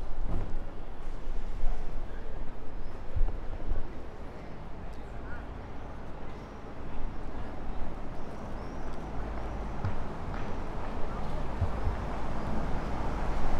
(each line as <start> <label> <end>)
0.0 works in front of the post office 13.5